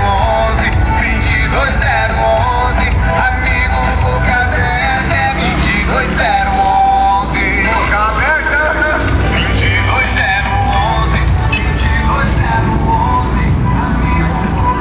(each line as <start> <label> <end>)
0.0 Automobiles 14.8
0.0 Canto 14.8
0.0 Horns and Whistles 14.8
0.0 Motorcycle 14.8